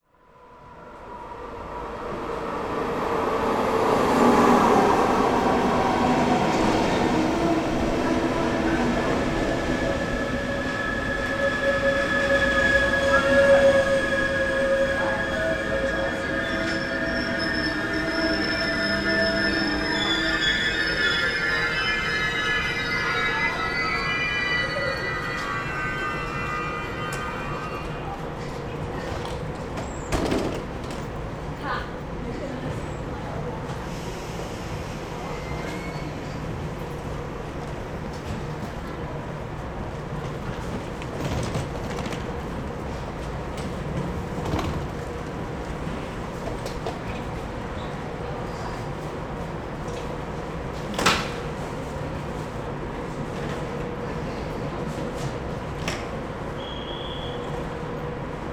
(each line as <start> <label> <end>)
0.0 departing and leaving train 58.5